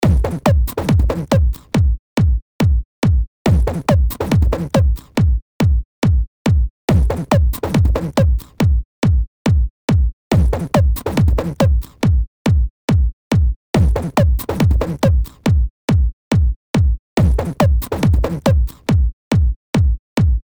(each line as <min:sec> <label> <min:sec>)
0:00.0 Kick Drum 0:20.5
0:00.0 Snare 0:01.8
0:03.5 Snare 0:05.2
0:03.5 Bass 0:20.0
0:07.1 Snare 0:08.7
0:10.4 Snare 0:12.0
0:13.8 Snare 0:15.5
0:17.2 Snare 0:18.9